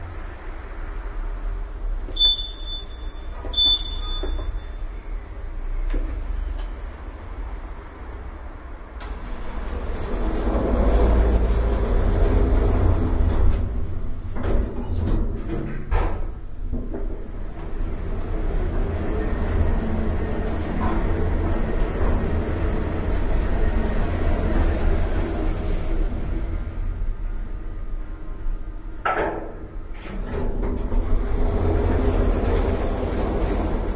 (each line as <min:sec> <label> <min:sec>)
0:02.0 lift 0:05.0
0:02.1 door opening and closing 0:04.8
0:09.0 lift 0:33.9